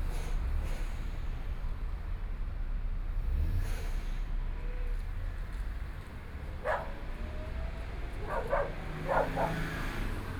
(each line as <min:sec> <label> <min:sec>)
0:00.0 Traffic Sound 0:10.3
0:05.4 walking on the Road 0:10.3
0:06.6 Dogs barking 0:10.3